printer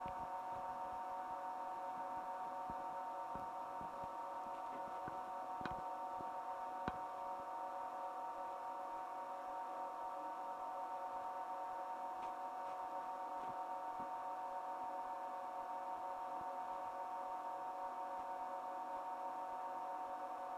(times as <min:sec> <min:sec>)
0:11.1 0:20.5